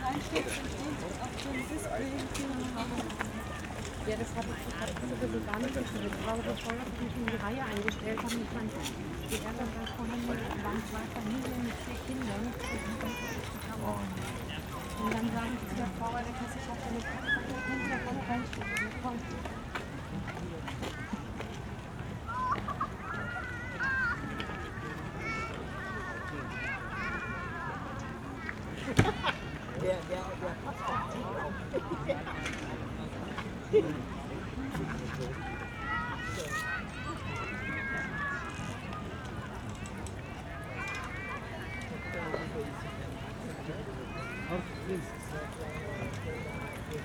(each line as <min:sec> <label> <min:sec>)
0:00.0 closing call of the nearby public pool 0:47.0
0:00.0 people entering and leaving the area 0:47.0